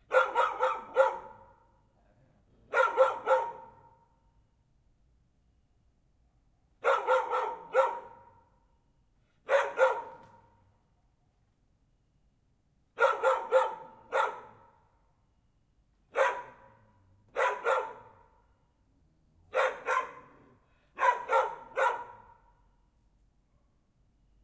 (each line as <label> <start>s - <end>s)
dogs are barking 0.0s - 1.6s
dogs are barking 2.7s - 4.0s
dogs are barking 6.8s - 8.4s
dogs are barking 9.4s - 10.4s
dogs are barking 13.0s - 14.7s
dogs are barking 16.1s - 18.4s
dogs are barking 19.5s - 22.5s